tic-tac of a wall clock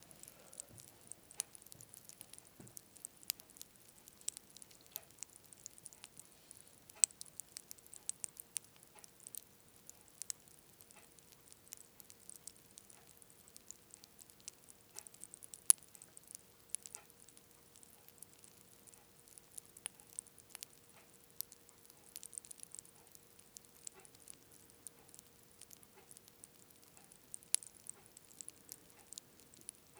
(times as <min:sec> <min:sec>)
0:20.0 0:22.1